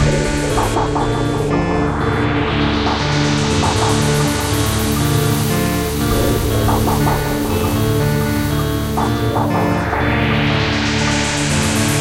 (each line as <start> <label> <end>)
0.0 Synthesizer 12.0
0.0 drums 12.0